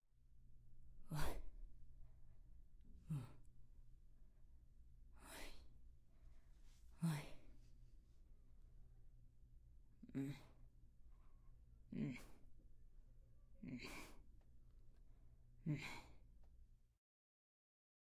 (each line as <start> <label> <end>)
11.9 Murmuring Of Discomfort Woman 12.4